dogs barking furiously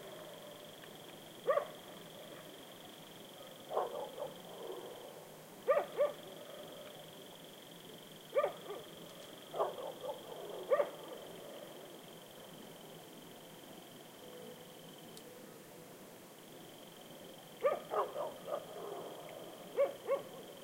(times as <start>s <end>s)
1.5s 1.8s, 3.5s 5.0s, 5.7s 6.2s, 8.3s 8.9s, 9.5s 11.1s, 17.6s 19.2s, 19.8s 20.4s